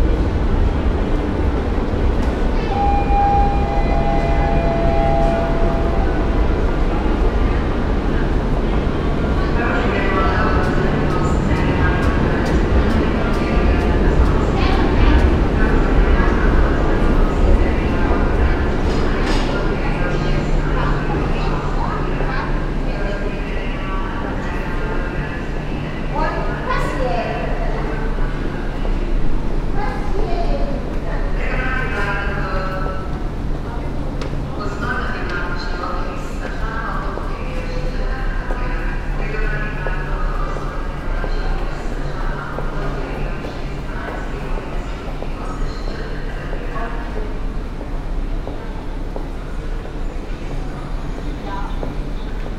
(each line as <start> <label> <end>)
0.0 storm approaching 23.5